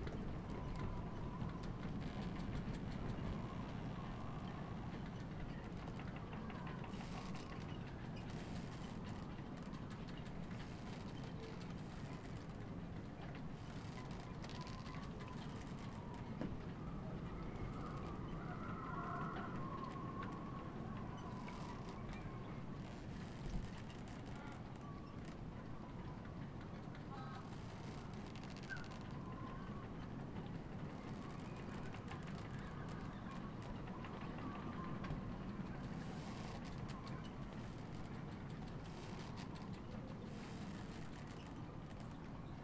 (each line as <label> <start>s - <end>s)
wind flaps the tarp 0.0s - 42.6s
creaking ropes 0.5s - 12.7s
creaking ropes 13.3s - 16.3s
creaking ropes 21.2s - 25.4s
creaking ropes 27.2s - 29.2s
creaking ropes 30.8s - 42.3s